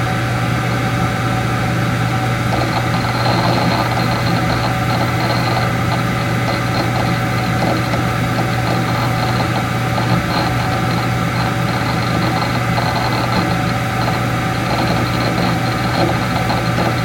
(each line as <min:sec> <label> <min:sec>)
0:01.6 noises from computer fan 0:17.0
0:02.5 computer harddisk 0:17.0